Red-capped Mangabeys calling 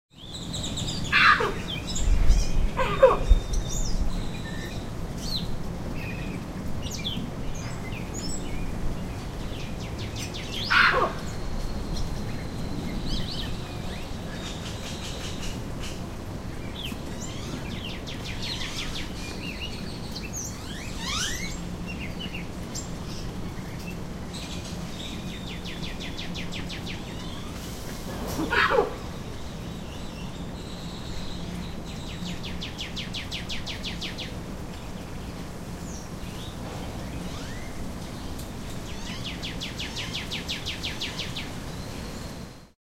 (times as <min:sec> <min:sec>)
0:00.9 0:02.0, 0:02.6 0:03.9, 0:10.6 0:11.5, 0:28.2 0:29.3